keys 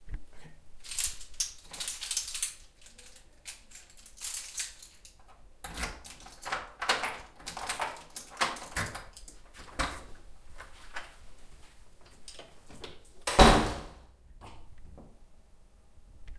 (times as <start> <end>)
0.8 10.0